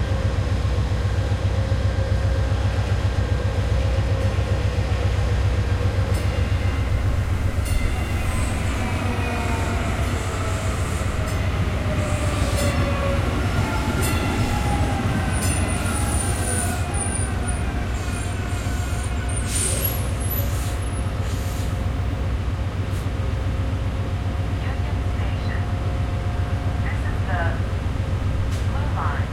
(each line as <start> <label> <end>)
0.0 train arriving 29.3
0.0 train leaving 29.3